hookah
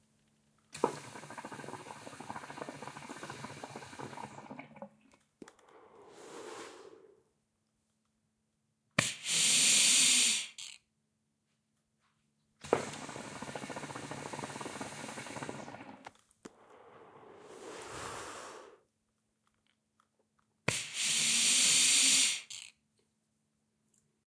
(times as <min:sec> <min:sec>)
0:00.8 0:05.0, 0:12.6 0:18.8